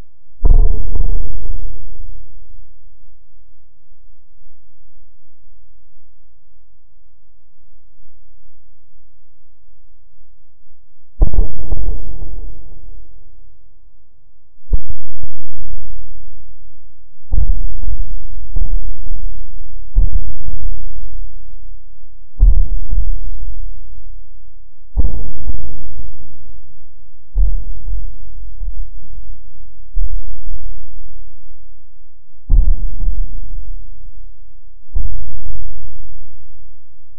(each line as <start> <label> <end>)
17.3 Rhythmic Suspense Drums 21.0
22.4 Rhythmic Suspense Drums 23.6
29.9 Rhythmic Suspense Drums 30.8
32.5 Rhythmic Suspense Drums 33.8